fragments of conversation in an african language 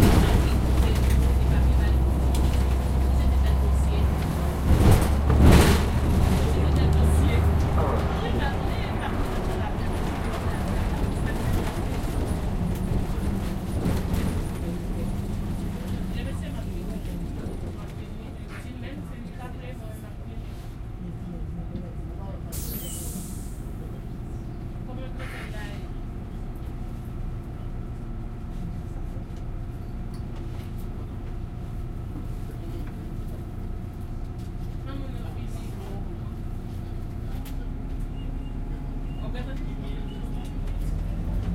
0.5 28.4

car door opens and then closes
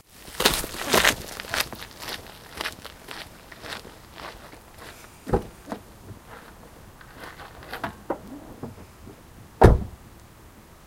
7.4 10.0

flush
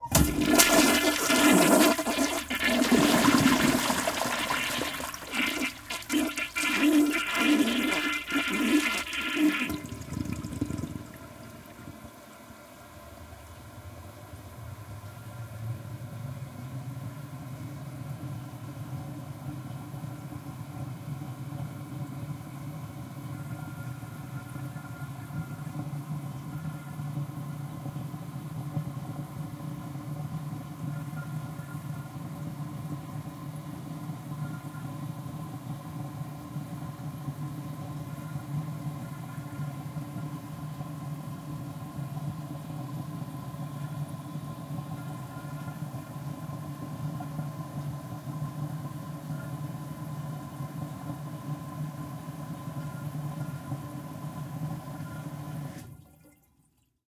0.0 12.6

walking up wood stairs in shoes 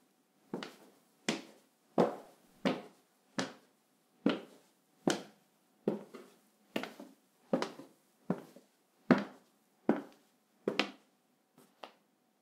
0.6 3.6, 5.9 11.0

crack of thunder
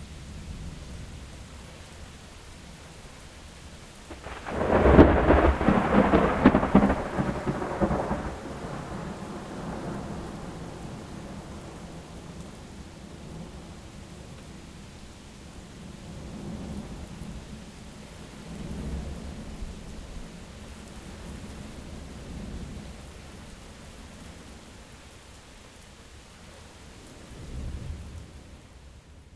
4.1 11.7

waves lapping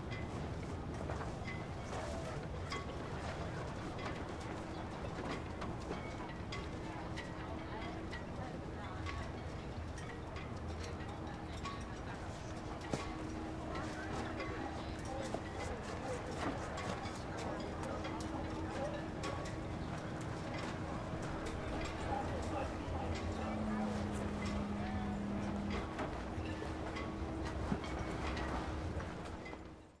12.0 29.8

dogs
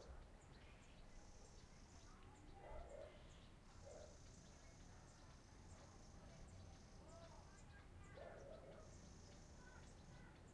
2.6 3.2, 3.8 4.3, 8.2 9.0

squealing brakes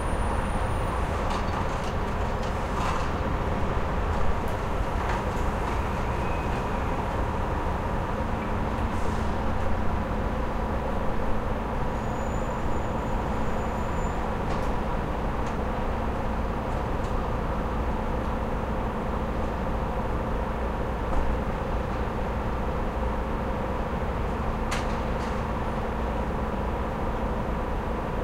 0.0 2.0, 5.2 7.4, 11.7 15.0

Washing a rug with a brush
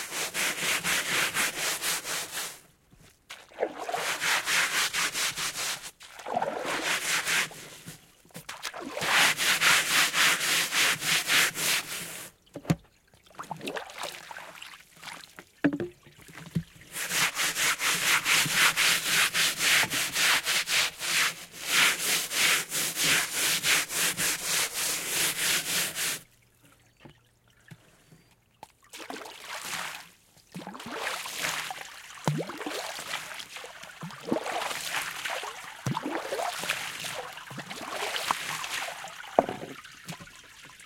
0.0 2.6, 3.3 12.3, 16.9 26.2, 30.9 40.8

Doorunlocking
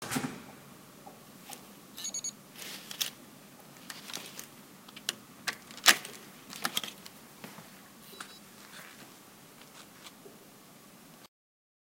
5.0 7.0

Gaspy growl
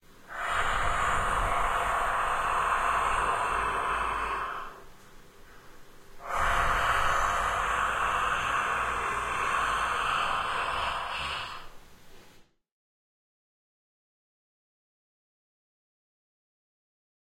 0.3 4.9, 6.2 11.8

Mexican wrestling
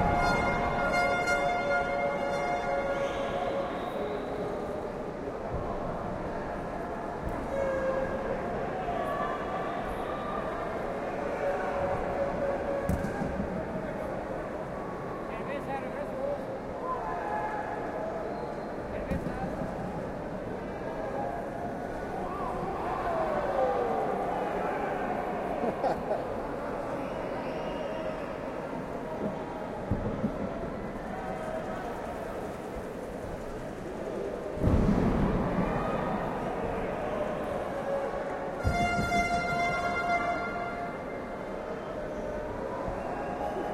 28.4 43.7

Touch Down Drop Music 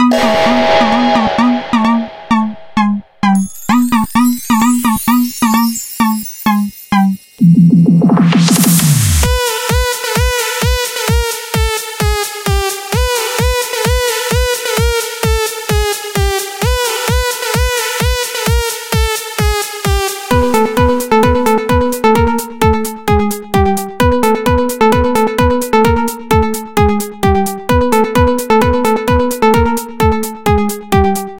0.0 6.7

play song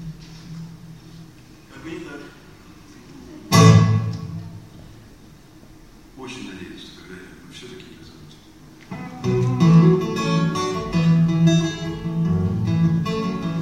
8.9 13.6

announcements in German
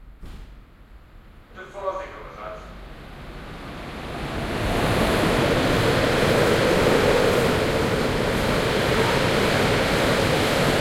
1.5 2.8

